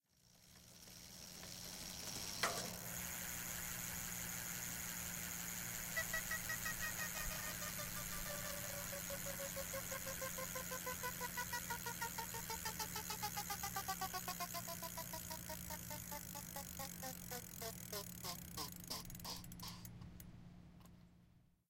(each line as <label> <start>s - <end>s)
Stopping a spinning bike tire with an introduced inanimate object 0.0s - 19.8s